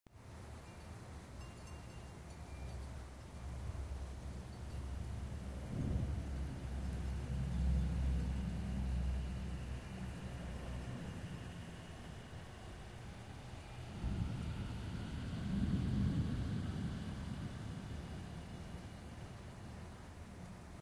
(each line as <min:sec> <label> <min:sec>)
0:00.3 creepy wind 0:20.8
0:00.5 Windchimes blowing in the wind 0:08.0